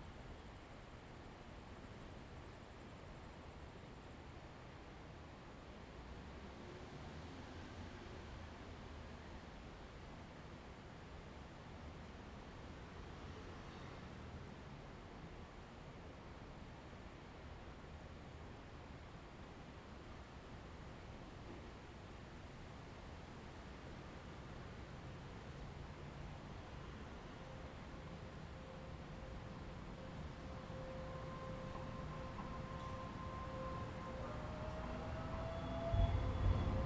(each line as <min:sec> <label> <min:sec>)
0:24.5 Train traveling 0:36.8
0:25.0 Traffic Sound 0:36.8